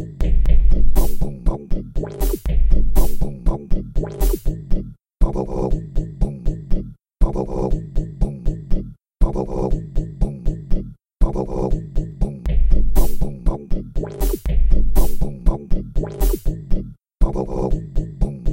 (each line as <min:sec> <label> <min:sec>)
0:00.0 vocal percussion 0:18.5